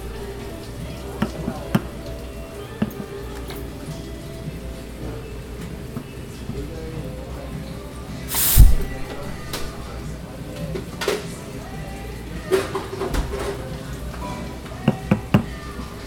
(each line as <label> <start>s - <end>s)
background music 0.0s - 10.6s
customers chatting 0.0s - 16.0s
steaming the milk 8.2s - 10.0s
background music 11.3s - 16.0s